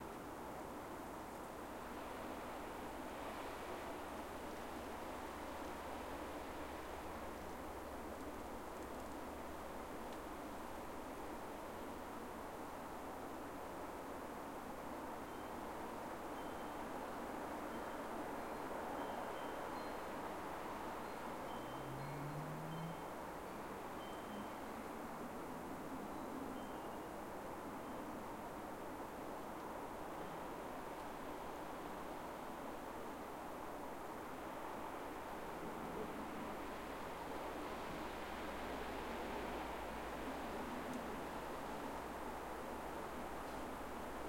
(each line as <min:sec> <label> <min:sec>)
0:00.0 Leaves on a tree hissing in strong wind 0:44.2
0:17.7 windchimes 0:24.7